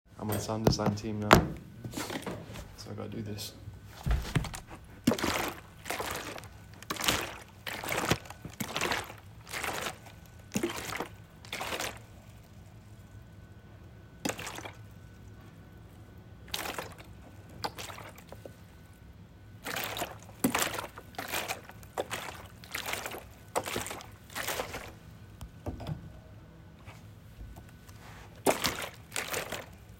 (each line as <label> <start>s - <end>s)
Walking in water 4.0s - 13.2s
Dripping 4.1s - 13.1s
Walking in water 14.2s - 15.4s
Dripping 14.2s - 15.3s
Walking in water 16.4s - 18.9s
Dripping 16.4s - 18.6s
Dripping 19.6s - 25.0s
Walking in water 19.6s - 25.1s
Walking in water 27.6s - 29.9s
Dripping 28.4s - 29.9s